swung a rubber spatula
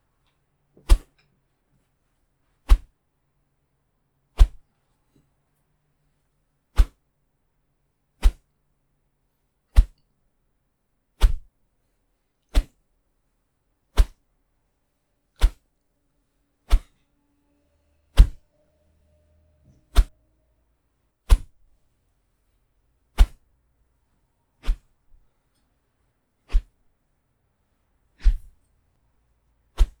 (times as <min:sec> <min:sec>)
0:18.1 0:18.4, 0:19.8 0:20.2, 0:29.8 0:30.0